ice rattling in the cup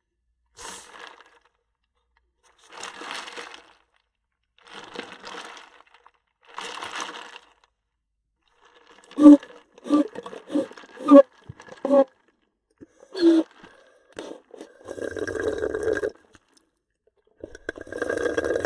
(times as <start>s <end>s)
2.6s 4.0s, 4.6s 7.8s, 8.5s 12.4s, 13.2s 16.5s, 17.4s 18.6s